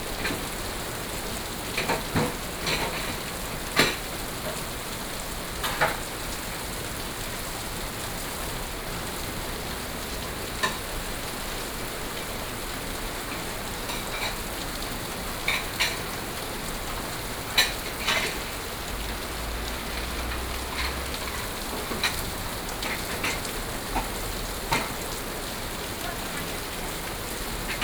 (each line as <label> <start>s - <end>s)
Heavy rain 0.0s - 27.8s
Traffic Sound 16.8s - 27.8s